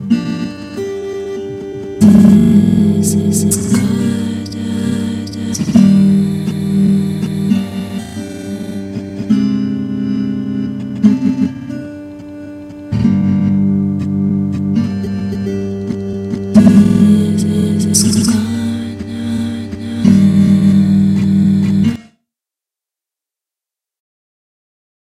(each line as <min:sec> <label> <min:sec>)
0:00.0 acoustic guitar 0:22.1
0:02.0 vocals 0:10.4
0:16.5 vocals 0:22.1